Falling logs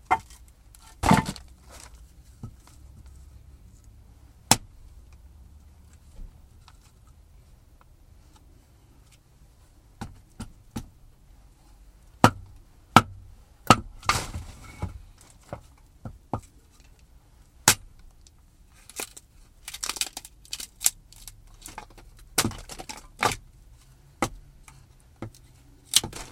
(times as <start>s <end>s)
0.0s 2.8s, 12.2s 16.8s, 18.8s 23.4s, 25.2s 26.3s